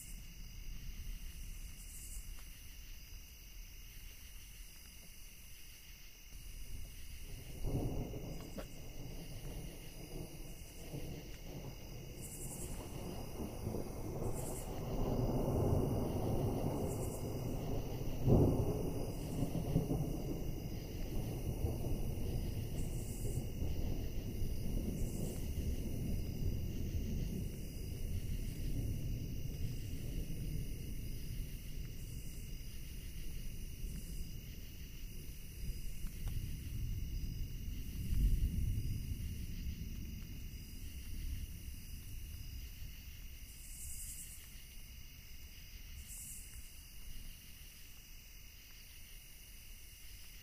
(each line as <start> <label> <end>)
0.0 rain 50.4
6.4 distant thunder 44.8